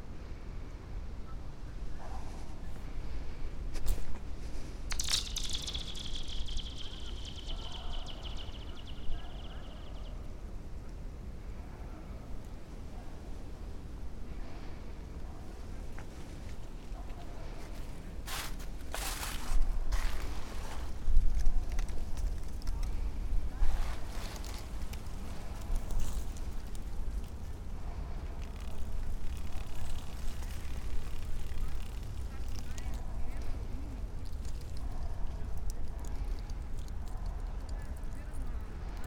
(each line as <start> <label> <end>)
4.9 throwing small stones on to the surface 7.6